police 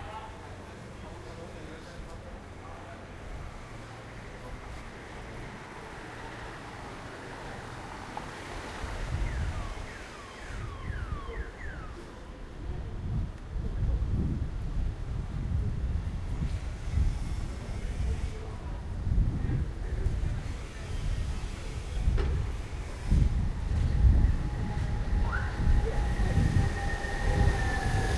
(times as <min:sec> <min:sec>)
0:00.0 0:13.6